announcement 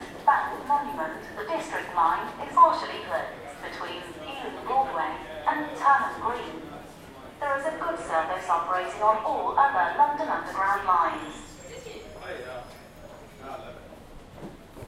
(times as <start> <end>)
0.0 6.7, 7.4 11.9